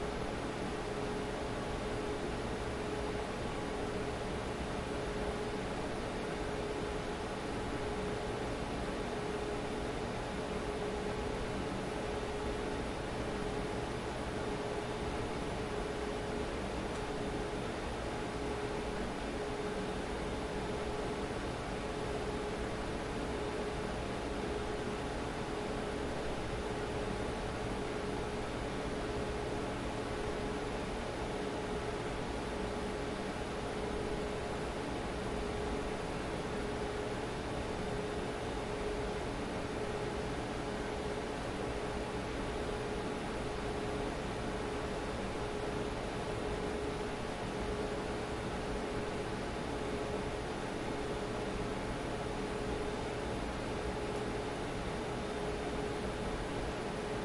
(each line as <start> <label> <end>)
0.0 RoomTone Computer 57.2